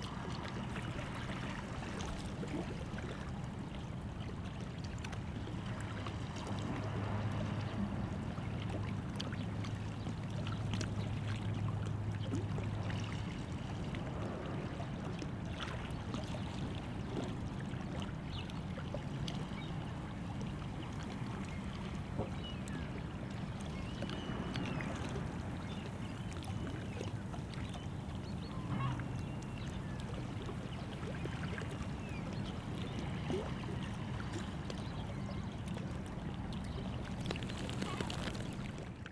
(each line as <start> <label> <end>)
0.0 sea 39.1
0.0 sounds of harbou in background 39.1